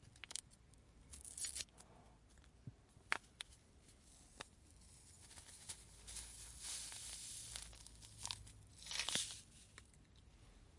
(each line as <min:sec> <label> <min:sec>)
0:06.2 Pouring a sugar sashay packet into a cup of coffee 0:09.5